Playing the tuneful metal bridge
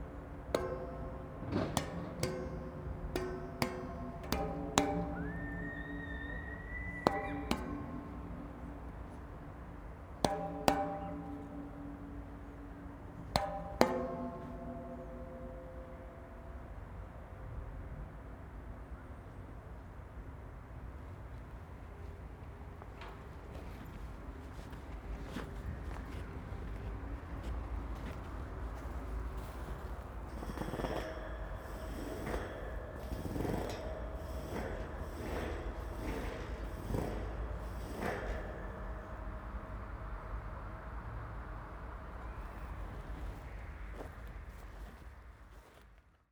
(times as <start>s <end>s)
0.0s 17.3s, 28.6s 44.0s